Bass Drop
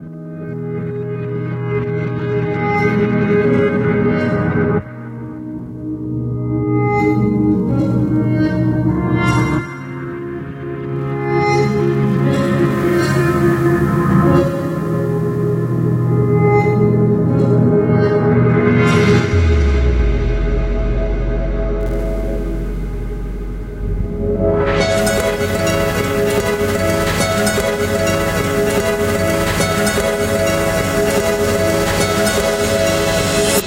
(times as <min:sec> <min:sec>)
0:19.0 0:26.3